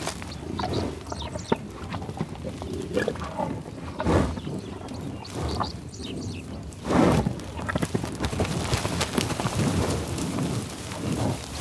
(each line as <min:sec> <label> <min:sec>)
0:00.0 Buffalos in the tall-grass prairie in Oklahoma, growling, grunting 0:11.6